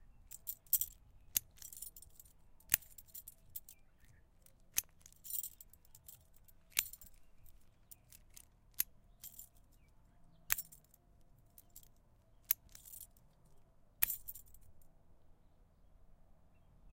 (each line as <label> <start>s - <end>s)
small padlock 0.1s - 15.0s
jingling of the keys 0.3s - 8.5s
jingling of the keys 9.2s - 9.9s
jingling of the keys 10.5s - 14.8s